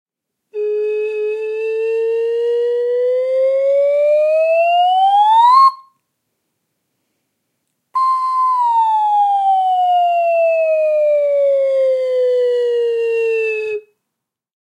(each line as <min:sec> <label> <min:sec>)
0:00.6 slide whistle (up and down) 0:06.0
0:08.0 slide whistle (up and down) 0:13.8